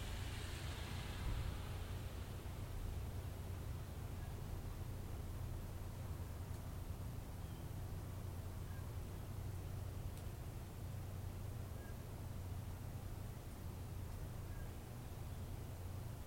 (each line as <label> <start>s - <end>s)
thunderclap 0.0s - 3.5s